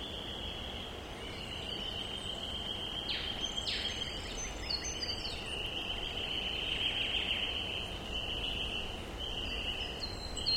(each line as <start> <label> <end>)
0.0 dense birds 10.5
0.0 wind through the trees 10.5